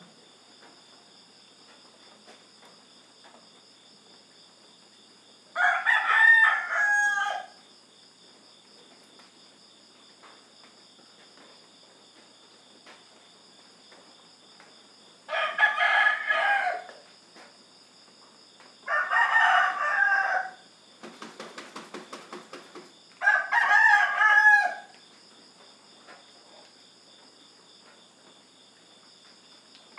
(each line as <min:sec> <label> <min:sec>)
0:00.0 crickets 0:29.9
0:05.6 Roosters 0:07.7
0:15.3 Roosters 0:17.5
0:18.8 Roosters 0:25.4
0:22.5 light rain 0:29.9